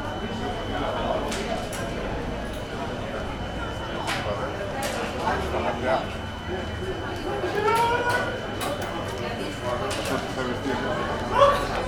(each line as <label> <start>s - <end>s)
locals sitting at tables, talking 0.0s - 11.8s